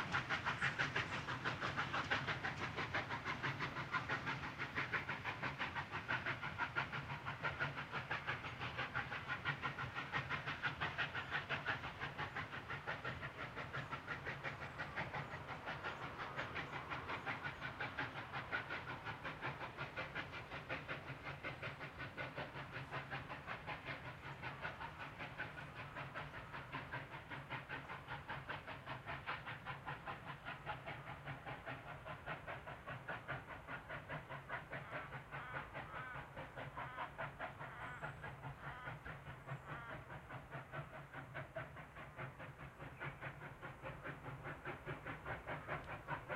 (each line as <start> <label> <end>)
0.0 Steam 46.3
0.0 trains whistle 46.3